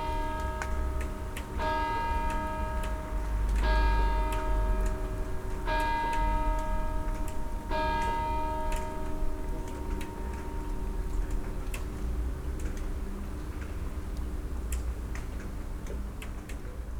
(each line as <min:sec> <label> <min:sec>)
0:00.0 church bells 0:11.2